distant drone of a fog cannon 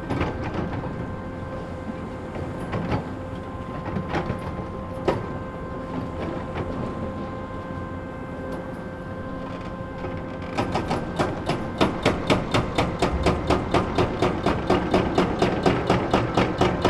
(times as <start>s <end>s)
11.0s 16.0s